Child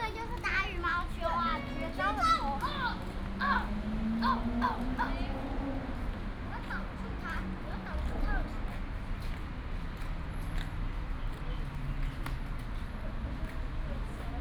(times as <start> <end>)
0.0 5.6, 6.5 8.8